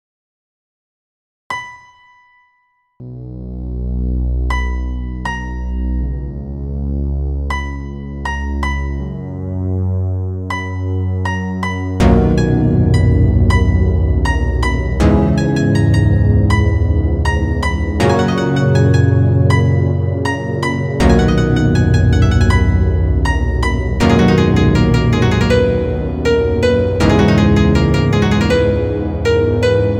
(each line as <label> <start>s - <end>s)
orchestral piece 18.0s - 20.0s
orchestral piece 21.0s - 29.9s